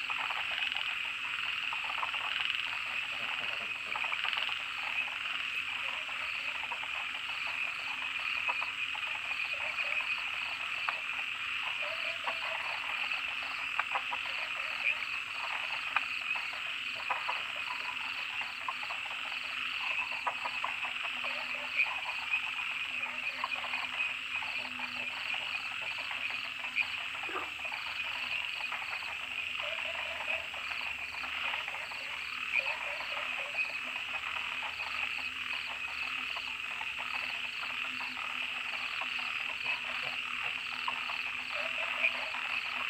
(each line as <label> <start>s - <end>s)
Frogs chirping 0.0s - 42.8s
Dogs barking 27.2s - 27.6s
Dogs barking 41.5s - 42.4s